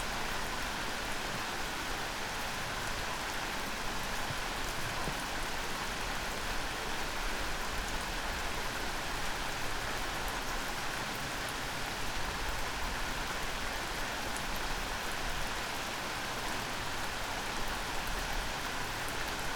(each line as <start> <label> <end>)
0.0 night rain 19.5